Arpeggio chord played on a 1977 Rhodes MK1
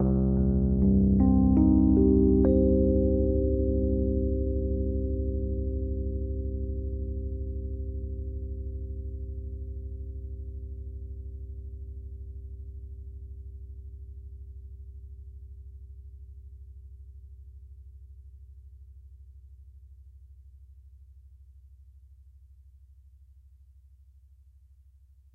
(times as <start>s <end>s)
0.0s 12.2s